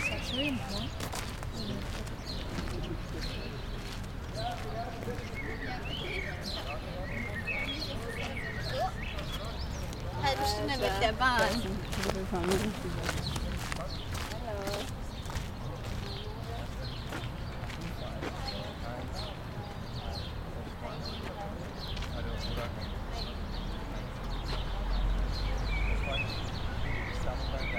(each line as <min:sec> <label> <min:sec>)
0:00.0 Walkers 0:19.2
0:00.0 Distant traffic 0:27.7
0:00.0 birds 0:27.7
0:08.2 joggers 0:18.6